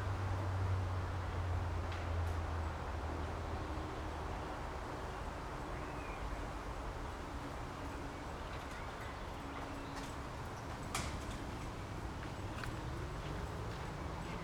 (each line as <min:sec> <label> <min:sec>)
0:00.0 traffic noise in the distance 0:14.4